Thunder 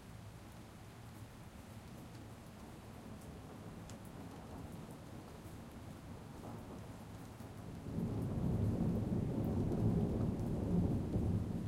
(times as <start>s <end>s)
7.8s 11.6s